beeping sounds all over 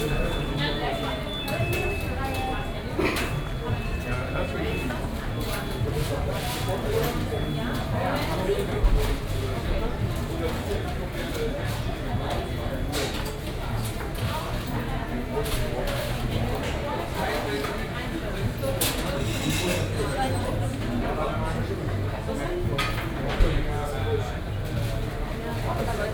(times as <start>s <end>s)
0.0s 8.3s